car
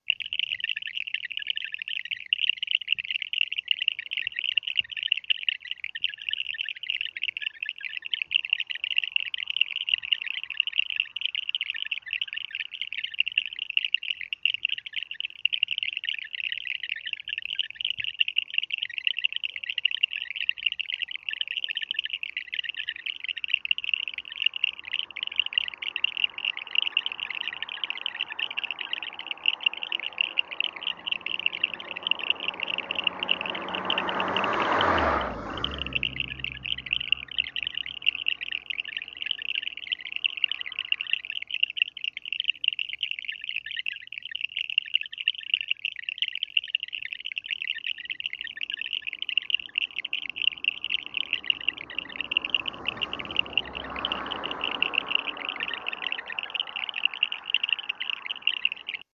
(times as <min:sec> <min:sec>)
0:21.4 0:41.6, 0:49.2 0:59.1